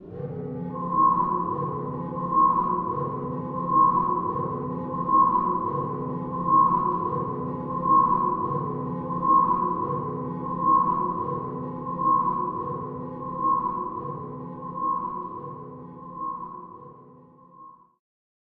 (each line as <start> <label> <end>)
0.1 Spaceship emergency alarm 18.0